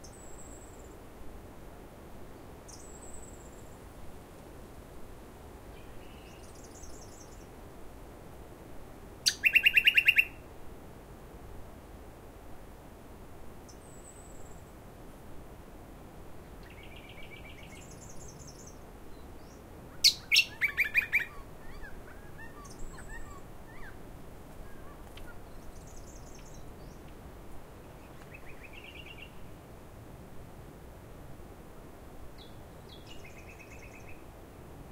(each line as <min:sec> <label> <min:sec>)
0:05.7 clear and joyful birdsong 0:07.6
0:09.2 clear and joyful birdsong 0:10.4
0:16.6 clear and joyful birdsong 0:24.0
0:24.6 clear and joyful birdsong 0:27.2
0:27.8 clear and joyful birdsong 0:29.4
0:32.4 clear and joyful birdsong 0:34.2